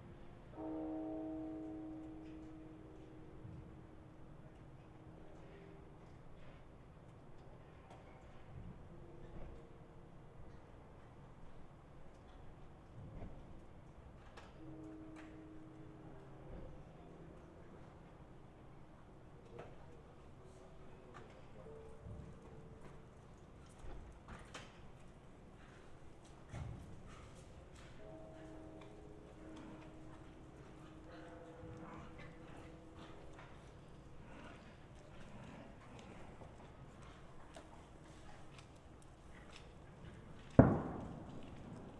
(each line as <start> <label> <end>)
27.9 temple bells 33.6
40.4 fireworks 41.9